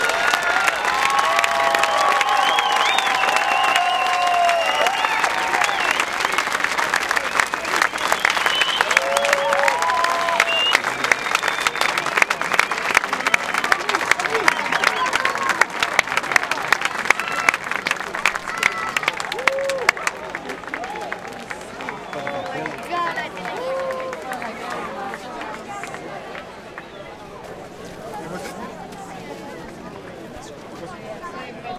cheer 0:00.0 - 0:26.0
applause 0:00.0 - 0:27.6
crowd enthusiastic whistling 0:00.0 - 0:15.6
crowd enthusiastic whistling 0:17.1 - 0:17.6
crowd enthusiastic whistling 0:21.9 - 0:22.9
crowd enthusiastic whistling 0:26.7 - 0:27.2

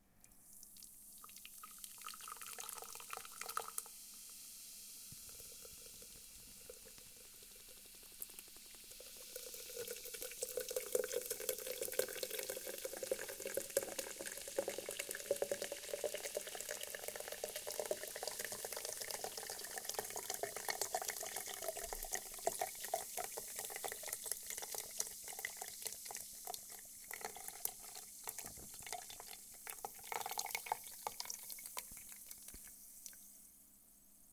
Large Monster Energy Drink Pouring From Can Into Root Beer Style Mug 0:00.4 - 0:33.3

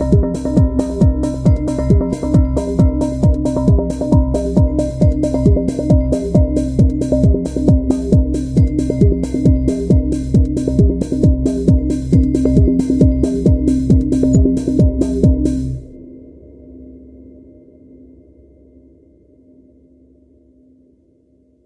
Filtered Bells 0:00.0 - 0:15.8
drums 0:00.0 - 0:16.0

